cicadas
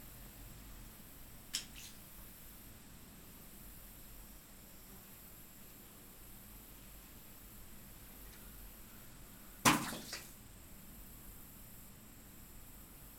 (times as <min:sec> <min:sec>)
0:01.0 0:02.7